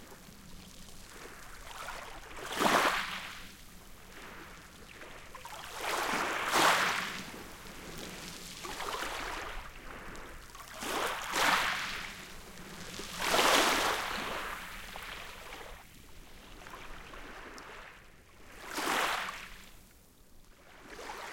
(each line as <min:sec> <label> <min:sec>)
0:00.0 gentle waves washing onto the shore 0:21.3